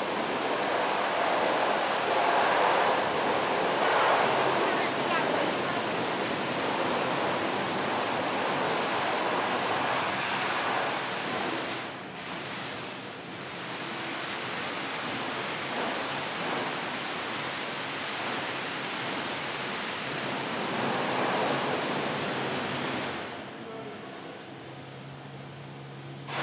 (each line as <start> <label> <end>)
0.0 cleaning crew washing the floors and walls 23.8